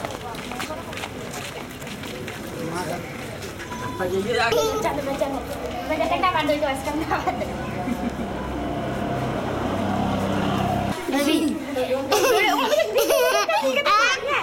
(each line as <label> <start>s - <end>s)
Pedestrians 0.0s - 14.4s
unusually low traffic 0.0s - 14.4s
Children 3.6s - 14.4s